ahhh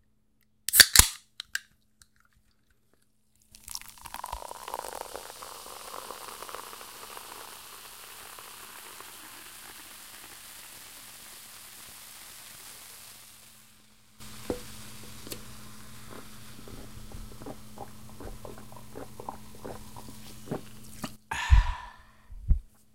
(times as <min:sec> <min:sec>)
0:21.1 0:22.3